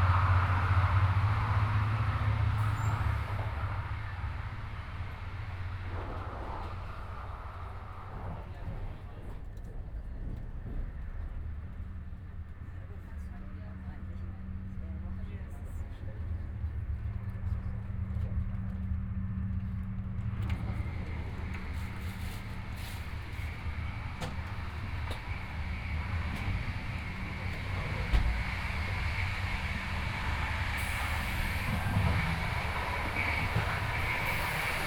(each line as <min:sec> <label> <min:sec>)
0:00.0 old and noisy IC train 0:34.8